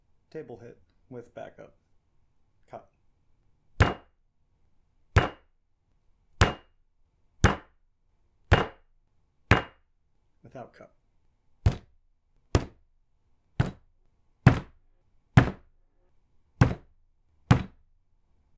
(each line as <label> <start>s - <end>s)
Hitting a wood table with a fist 3.8s - 4.1s
Hitting a wood table with a fist 5.2s - 5.5s
Hitting a wood table with a fist 6.4s - 6.8s
Hitting a wood table with a fist 7.4s - 7.8s
Hitting a wood table with a fist 8.5s - 8.9s
Hitting a wood table with a fist 9.5s - 9.8s
Hitting a wood table with a fist 11.6s - 12.8s
Hitting a wood table with a fist 13.6s - 15.7s
Hitting a wood table with a fist 16.6s - 17.9s